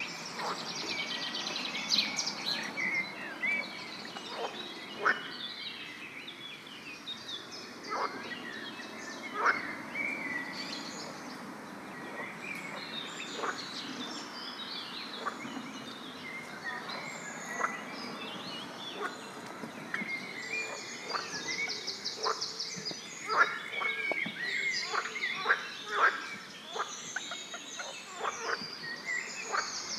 frogs 0:00.0 - 0:05.6
river 0:00.0 - 0:29.9
frogs 0:07.8 - 0:11.1
frogs 0:12.0 - 0:15.6
frogs 0:16.4 - 0:19.2
frogs 0:19.8 - 0:29.9

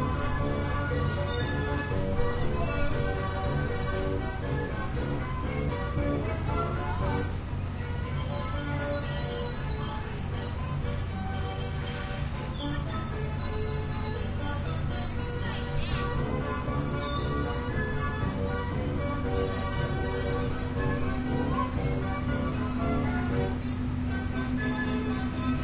carousel 0:00.0 - 0:25.6

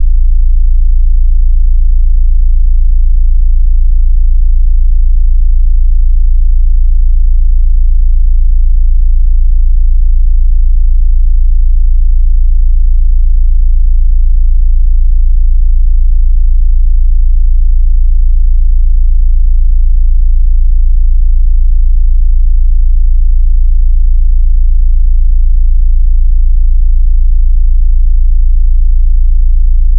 basshum 0:00.0 - 0:29.9

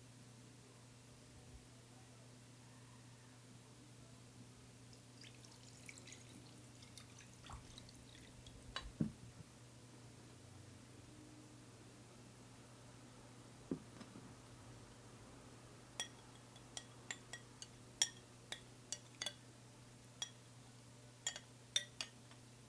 pouring water into a glass as well as a bowl 0:04.9 - 0:08.6
clinking a fork around inside of a bowl 0:16.0 - 0:19.4
clinking a fork around inside of a bowl 0:20.2 - 0:20.4
clinking a fork around inside of a bowl 0:21.2 - 0:22.2

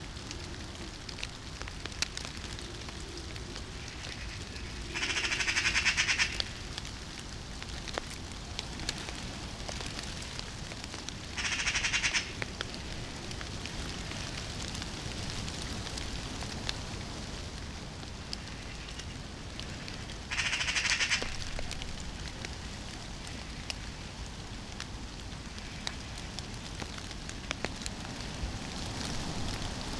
gusts of wind 0:00.0 - 0:29.9
rain 0:00.0 - 0:29.9
Eurasian magpies calling 0:03.8 - 0:06.6
Eurasian magpies calling 0:11.3 - 0:12.4
Eurasian magpies calling 0:20.3 - 0:21.5

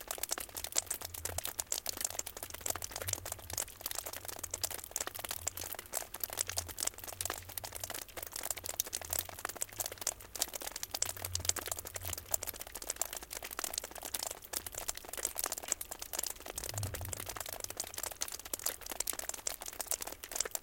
drops of water falling on the ground from the eaves 0:00.0 - 0:20.6

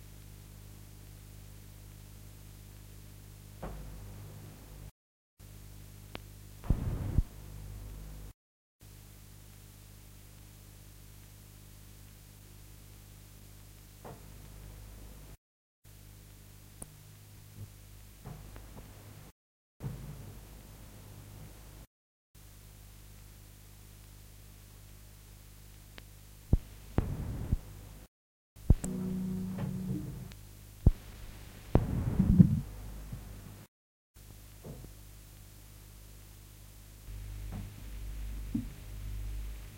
Hiss and noise and rumble of analogue tape 0:00.0 - 0:39.7
hum 0:00.0 - 0:39.7
buzz 0:28.6 - 0:32.7

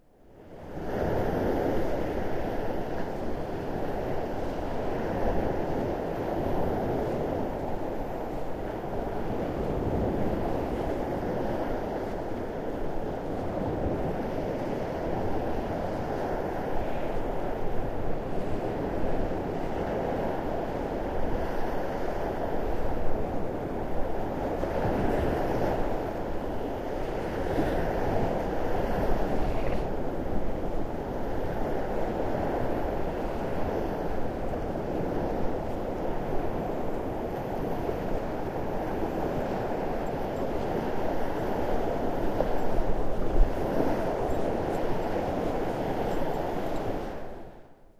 Walking along the shore line 0:00.3 - 0:47.8

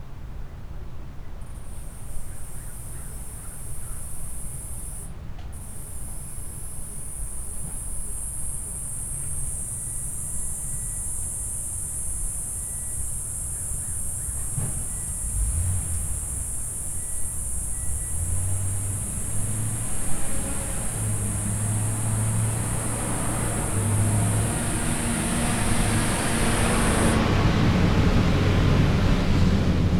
Crickets 0:01.4 - 0:29.9
Amazon van 0:10.8 - 0:29.9

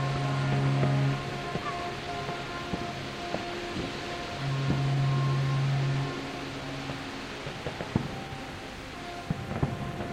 blowing their horns 0:00.0 - 0:10.1

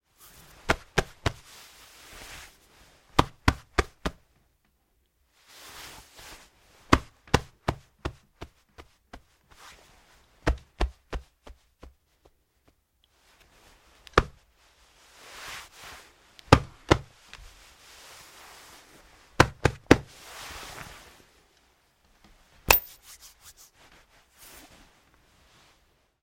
pat on the jacket 0:22.7 - 0:23.2

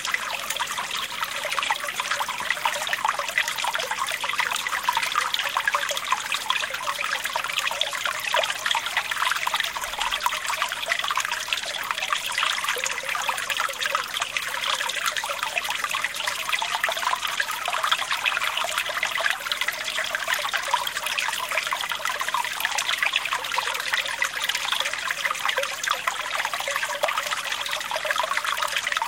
babbling brook 0:00.0 - 0:29.0

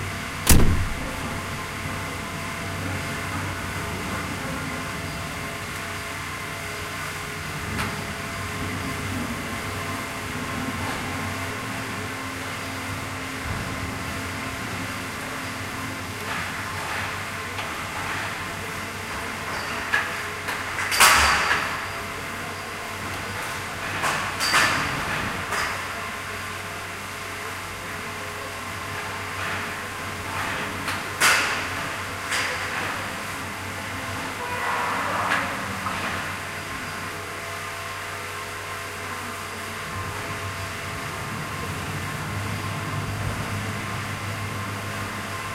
bang 0:00.4 - 0:01.6

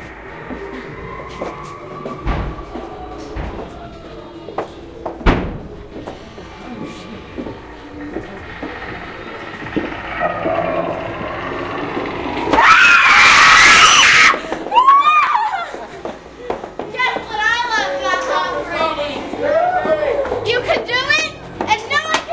walking through a high end Haunted House 0:00.0 - 0:22.3
Girls have high pitched screams 0:12.5 - 0:15.7

